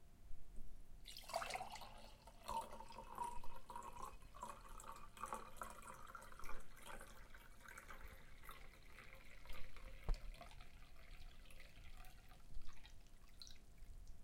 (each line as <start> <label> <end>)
1.0 Long liquid pour 14.2